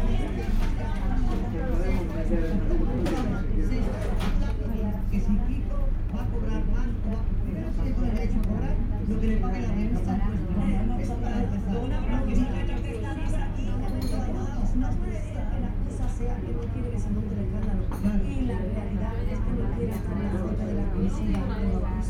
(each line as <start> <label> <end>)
0.0 people talking 22.0
0.0 tv set 22.0